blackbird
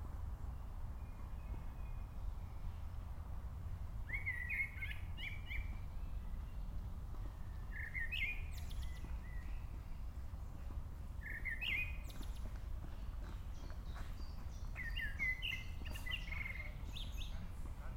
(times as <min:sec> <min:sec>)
0:04.1 0:06.6, 0:07.6 0:09.9, 0:11.2 0:17.7